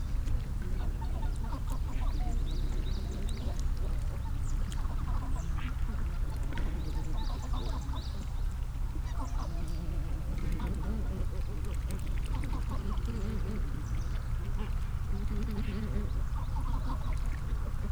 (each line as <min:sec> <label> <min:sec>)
0:00.0 Migratory geese feeding 0:17.9